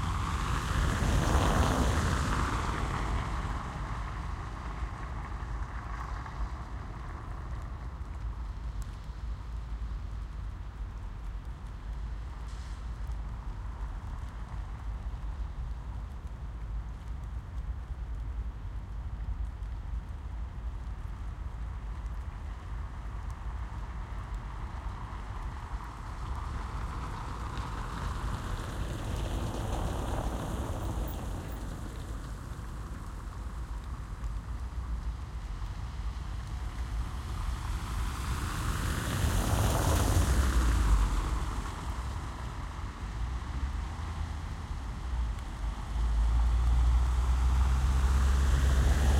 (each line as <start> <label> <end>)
0.0 Passing cars on wet cobblestone street 49.1
0.0 Raindrops are audible close to microphone 49.1
0.0 city noise in the background 49.1